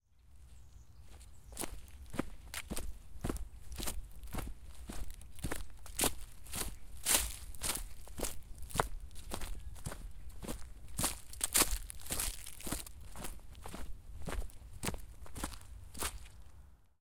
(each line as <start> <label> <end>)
1.1 footsteps 16.4